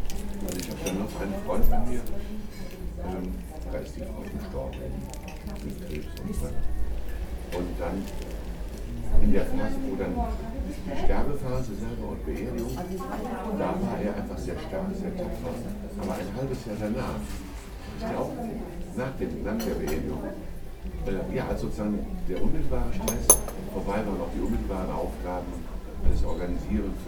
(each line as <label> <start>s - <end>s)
conversation on the table near by 0.0s - 27.0s